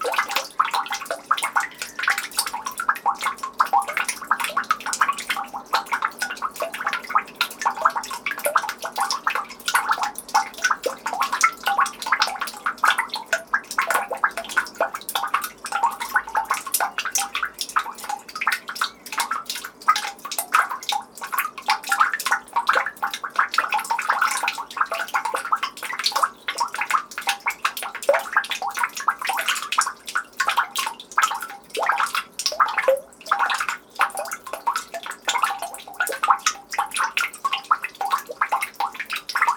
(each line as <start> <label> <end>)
0.0 Rhythmic drops of melting snow in the street trough a manhole 39.5